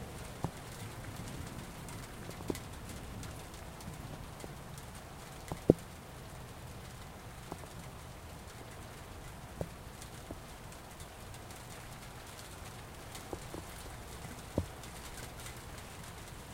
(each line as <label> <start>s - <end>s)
rain 0.0s - 16.5s